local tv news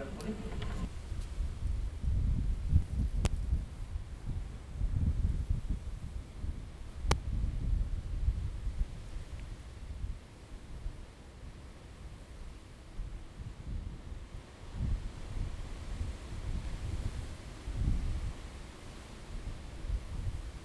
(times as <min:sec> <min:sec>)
0:00.0 0:00.9